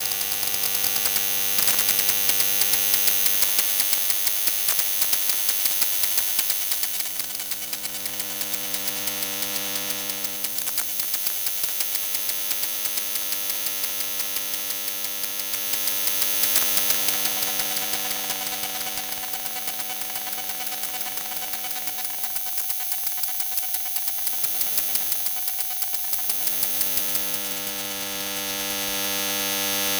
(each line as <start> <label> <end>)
0.0 Electromagnetic field recording of a HP laptop 29.9